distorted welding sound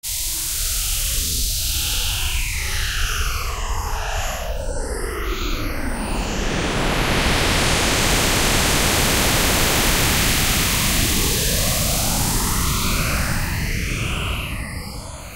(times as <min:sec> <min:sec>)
0:06.2 0:13.6